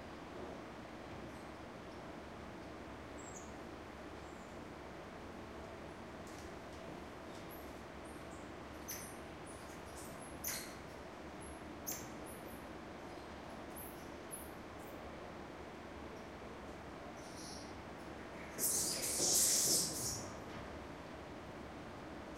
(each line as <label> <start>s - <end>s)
Common Squirrel Monkeys calling to each other 18.6s - 20.2s